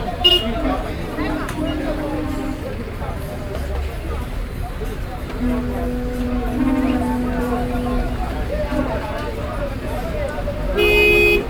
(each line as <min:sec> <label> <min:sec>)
0:00.0 Traders 0:11.4
0:05.4 Matatus 0:09.6